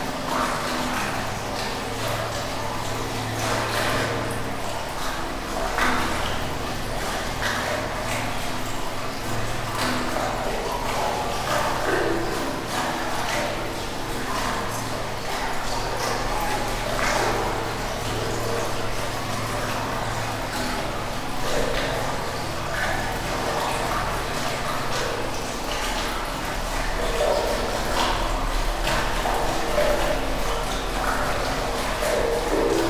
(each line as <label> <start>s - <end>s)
water reservoir 0.0s - 32.8s